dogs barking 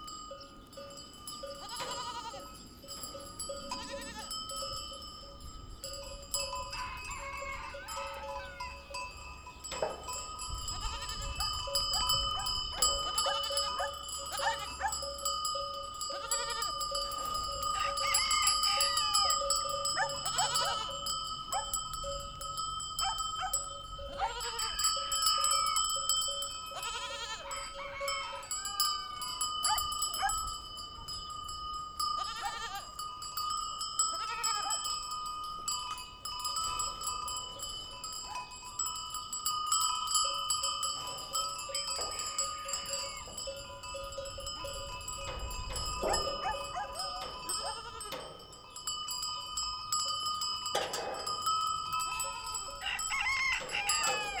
0:12.0 0:15.1, 0:19.9 0:20.7, 0:21.5 0:21.8, 0:23.0 0:24.5, 0:29.7 0:30.4, 0:46.0 0:47.9

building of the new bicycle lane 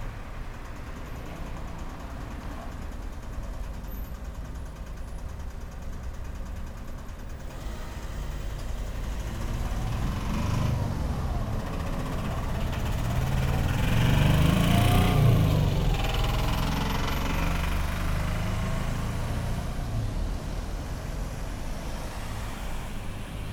0:00.0 0:16.0

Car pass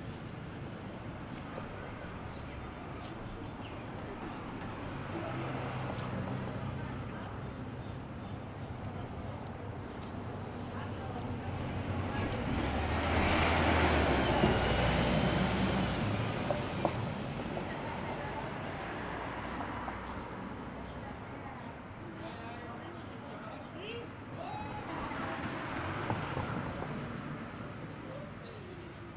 0:11.0 0:21.1, 0:24.7 0:28.0

